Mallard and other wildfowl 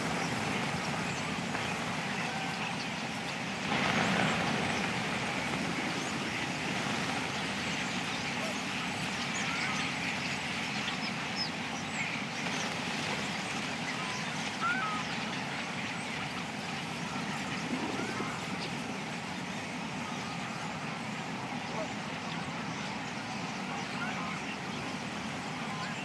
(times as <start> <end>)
12.0 15.8, 22.7 26.0